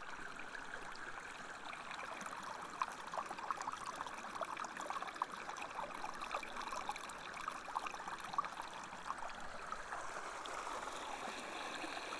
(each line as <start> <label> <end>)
0.0 sea 12.1
8.2 Pupuke Lake out-flow 12.1